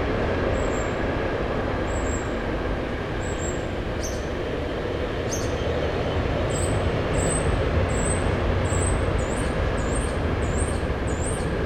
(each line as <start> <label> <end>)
0.0 passing-by freight train 11.6